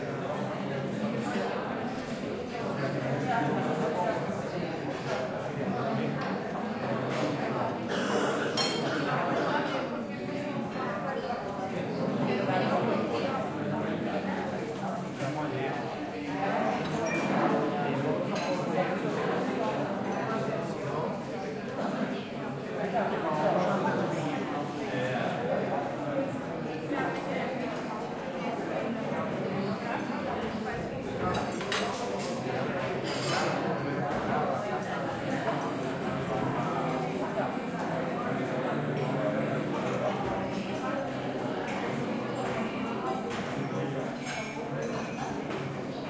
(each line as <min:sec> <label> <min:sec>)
0:00.8 people at breakfast time 0:12.9